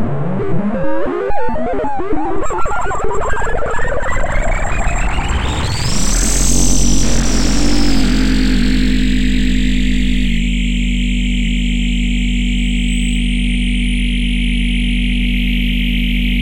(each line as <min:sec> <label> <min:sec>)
0:03.4 drone 0:16.4